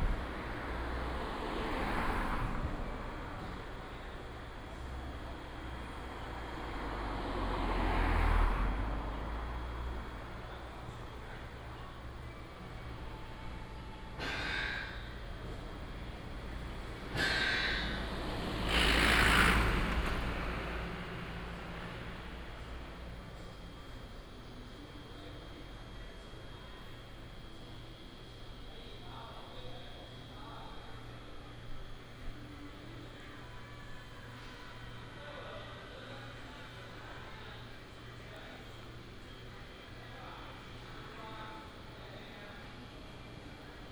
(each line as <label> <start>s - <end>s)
Traffic sound 0.0s - 30.7s